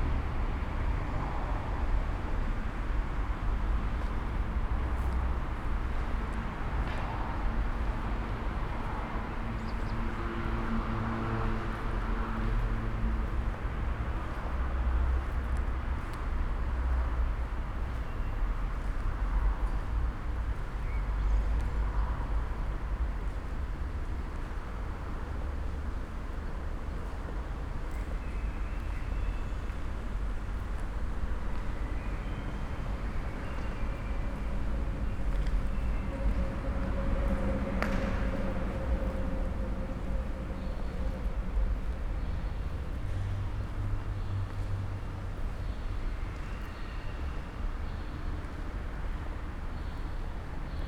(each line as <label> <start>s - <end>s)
walk 11.5s - 21.8s
walk 25.7s - 45.6s